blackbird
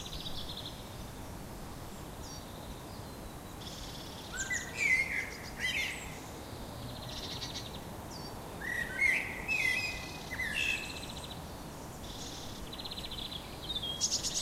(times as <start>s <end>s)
2.2s 6.4s, 7.0s 11.3s, 12.0s 14.4s